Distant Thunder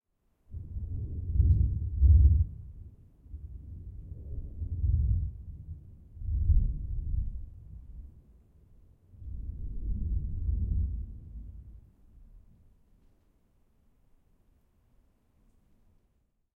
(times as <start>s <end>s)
0.6s 8.2s, 9.2s 12.3s